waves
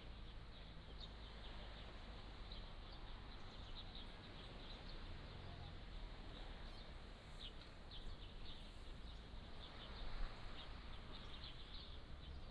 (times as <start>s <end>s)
8.9s 11.5s